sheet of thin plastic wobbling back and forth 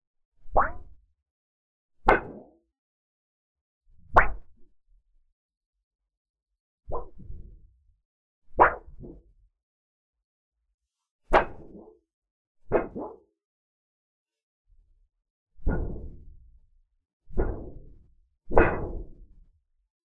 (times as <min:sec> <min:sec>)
0:00.4 0:01.0, 0:04.0 0:04.5, 0:06.9 0:07.6, 0:08.6 0:09.2, 0:11.3 0:11.9, 0:12.7 0:13.2, 0:15.6 0:16.4, 0:17.3 0:17.9, 0:18.5 0:19.2